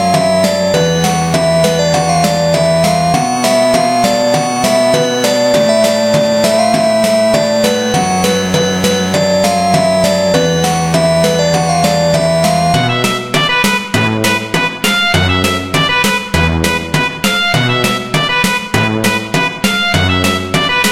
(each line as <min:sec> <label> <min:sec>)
0:00.0 synth 0:15.4